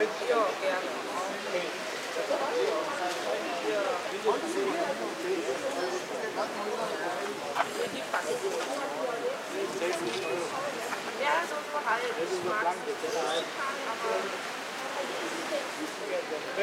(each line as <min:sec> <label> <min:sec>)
0:00.0 crowd 0:16.6